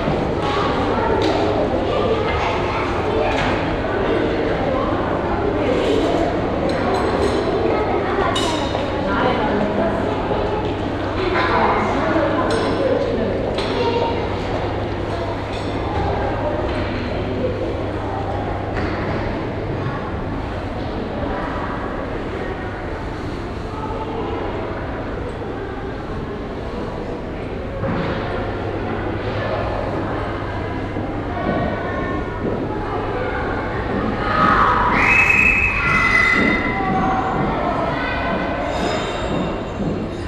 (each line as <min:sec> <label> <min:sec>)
0:00.0 group of children 0:40.2
0:00.0 lunch preparations from the downhall cafeteria 0:40.2
0:33.9 steps up and down the stairs 0:40.2